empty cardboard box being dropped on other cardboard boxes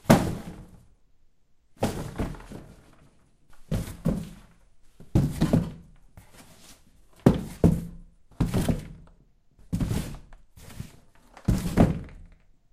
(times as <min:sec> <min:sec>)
0:00.0 0:00.8, 0:01.8 0:02.8, 0:05.2 0:05.8, 0:11.5 0:12.3